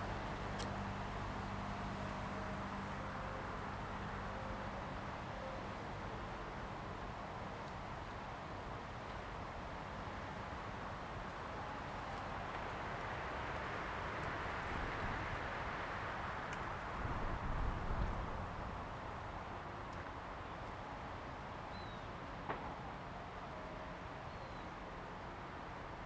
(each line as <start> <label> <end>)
0.0 Wind 26.0